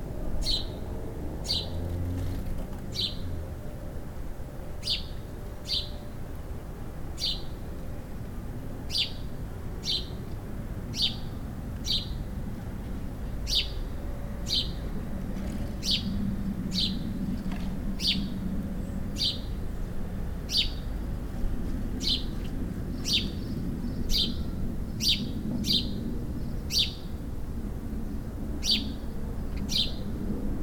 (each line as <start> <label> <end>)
0.4 sparrow singing 1.9
2.9 sparrow singing 3.4
4.8 sparrow singing 6.3
7.2 sparrow singing 7.6
8.8 sparrow singing 10.2
10.9 sparrow singing 12.3
13.5 sparrow singing 14.9
15.8 sparrow singing 17.2
18.0 sparrow singing 19.6
20.4 sparrow singing 21.0
22.0 sparrow singing 27.2
28.6 sparrow singing 30.2